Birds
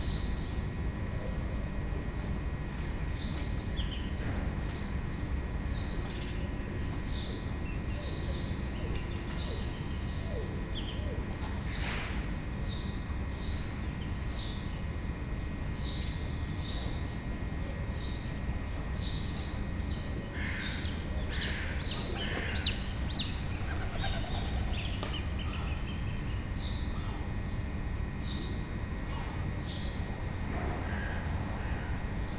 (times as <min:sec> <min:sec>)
0:03.0 0:15.0, 0:17.9 0:27.6